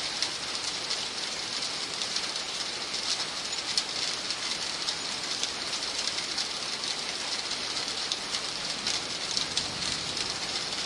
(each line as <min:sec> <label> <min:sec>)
0:00.0 rain 0:10.8
0:09.4 thunder 0:10.3